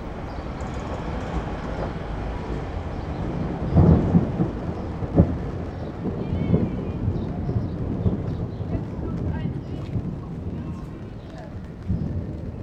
0.0s pedestrians 12.6s
0.0s traffic noise 12.6s
0.0s upcoming thunderstorm 12.6s

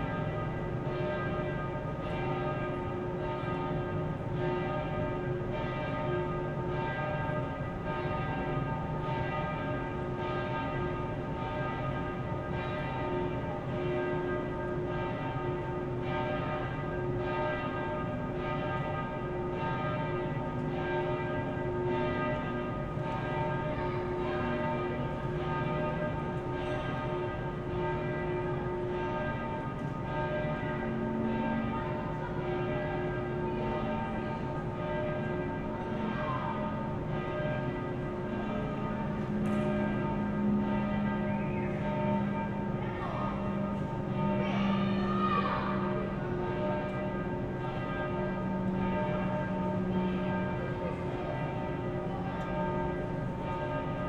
0.0s churchbells 54.0s

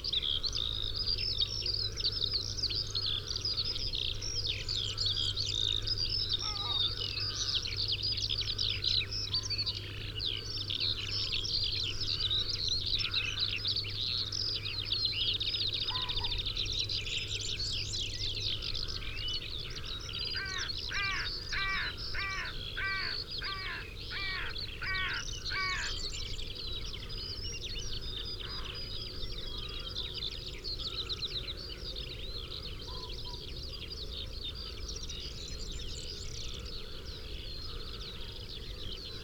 5.6s skylark 7.6s
15.4s pheasant 16.8s
15.8s red-legged partridge 16.5s
18.5s pheasant 39.2s
20.4s carrion crow 26.0s

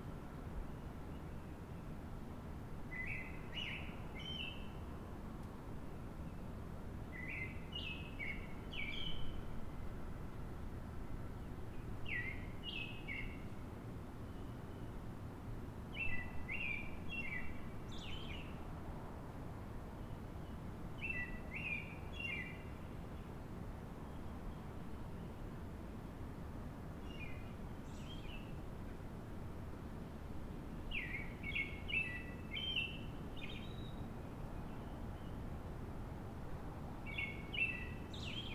0.0s hum of the highway I-93 38.5s

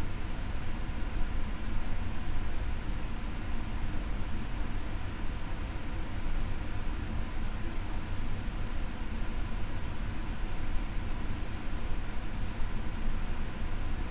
0.0s air ventilation system 14.1s

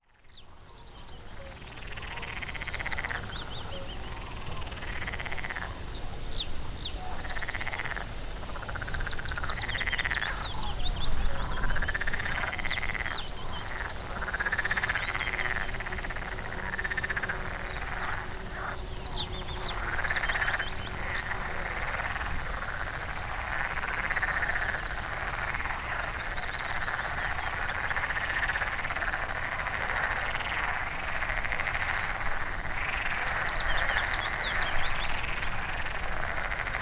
0.0s Frog chorus 36.8s

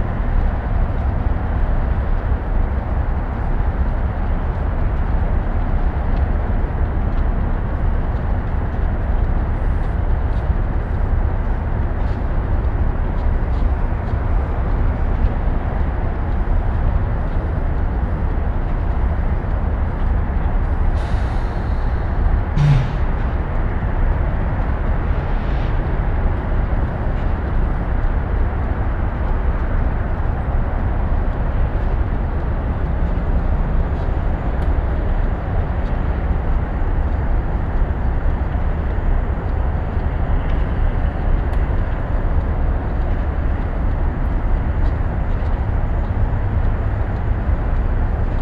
4.1s engines 48.4s

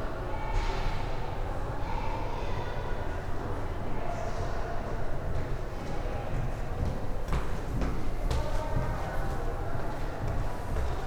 0.1s People walking through the underground tunnel 11.0s

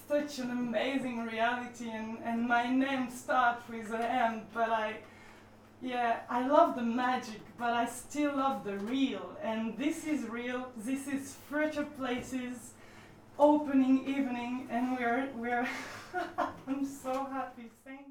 5.8s opening broadcast 12.8s

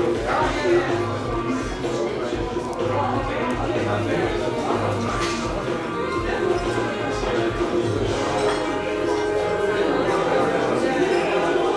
4.0s cups 11.7s

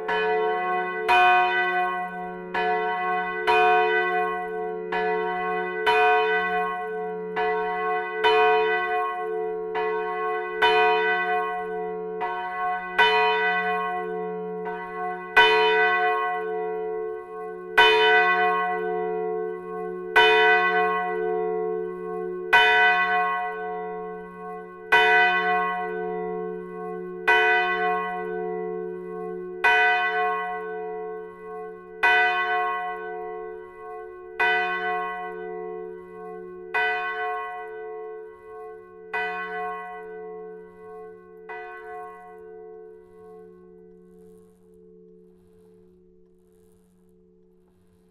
0.0s two bells ringed manually in the bell tower 46.1s

